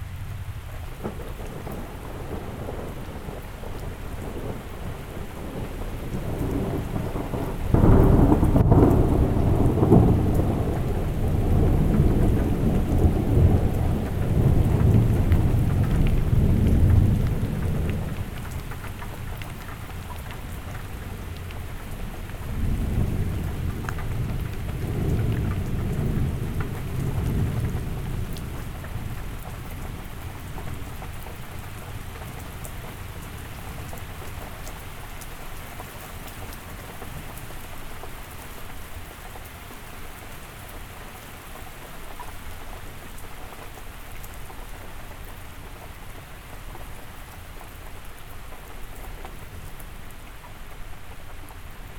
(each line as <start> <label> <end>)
0.0 big threatening storm 34.1